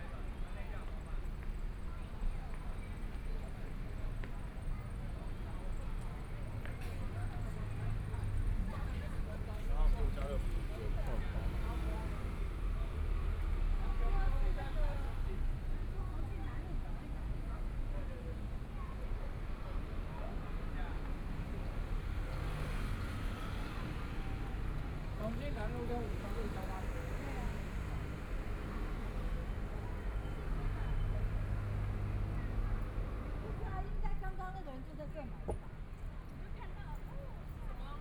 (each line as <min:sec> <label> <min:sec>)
0:19.8 walking on the Road 0:38.0
0:20.6 Traffic Sound 0:38.0